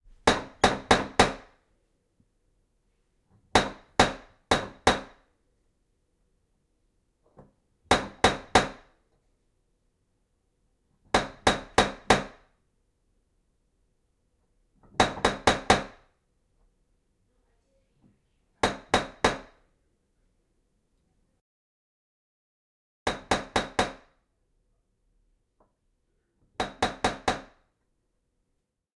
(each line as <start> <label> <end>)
0.2 knocks with brass knocker on wooden front door 1.6
3.5 knocks with brass knocker on wooden front door 5.2
7.4 knocks with brass knocker on wooden front door 8.9
11.1 knocks with brass knocker on wooden front door 12.5
14.8 knocks with brass knocker on wooden front door 16.1
18.6 knocks with brass knocker on wooden front door 19.6
23.0 knocks with brass knocker on wooden front door 24.2
26.5 knocks with brass knocker on wooden front door 27.7